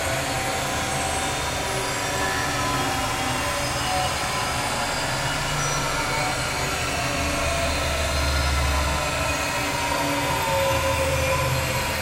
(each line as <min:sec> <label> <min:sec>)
0:00.0 working machines in factory 0:12.0